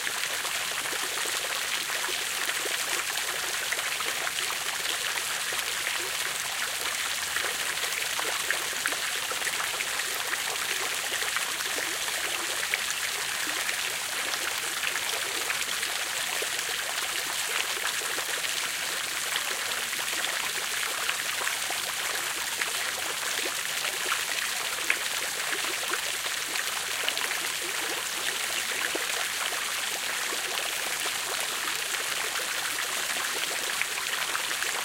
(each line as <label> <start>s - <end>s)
small fountains 0.0s - 34.8s